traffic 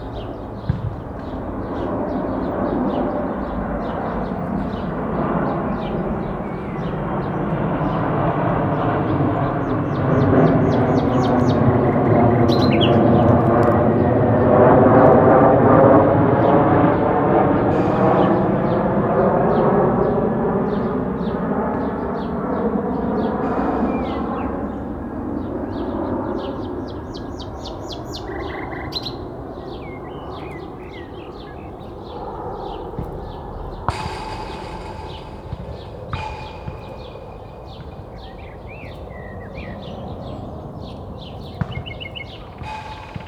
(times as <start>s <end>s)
30.9s 40.2s